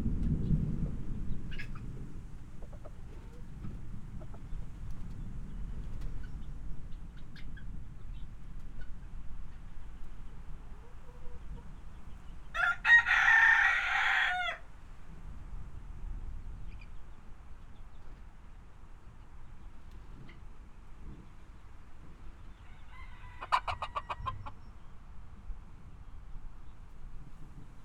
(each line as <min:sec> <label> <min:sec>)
0:00.0 thunder storm 0:05.9
0:00.5 free range chickens 0:27.8